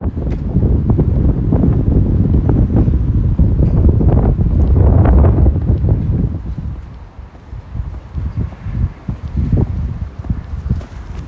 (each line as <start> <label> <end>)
0.0 Wind 11.2